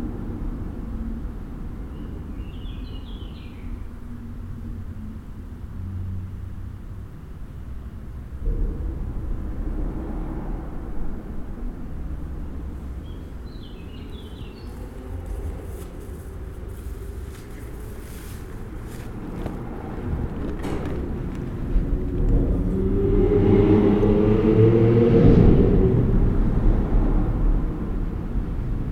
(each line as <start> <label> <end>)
0.0 bruits rythmés du passage des véhicules 28.9
7.4 sons de la nature 24.9